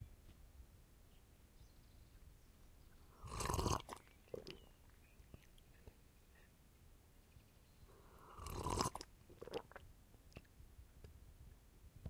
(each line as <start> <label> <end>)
3.2 Drink slurping sound from a cup 4.6
8.0 Drink slurping sound from a cup 9.8